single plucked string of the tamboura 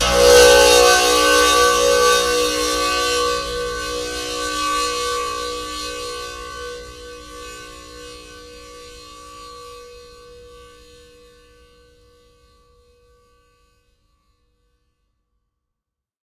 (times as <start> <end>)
0.0 8.6